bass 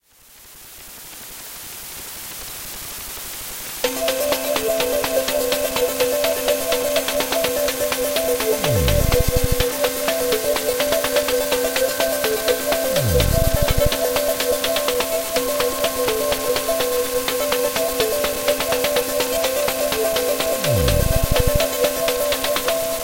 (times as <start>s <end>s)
8.7s 9.6s, 13.0s 13.9s, 20.6s 21.6s